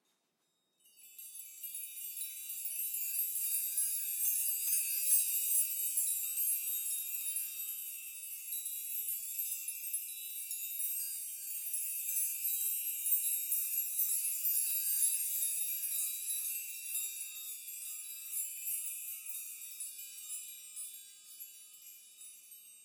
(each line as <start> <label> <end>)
0.3 chime bar made from various size house keys 22.8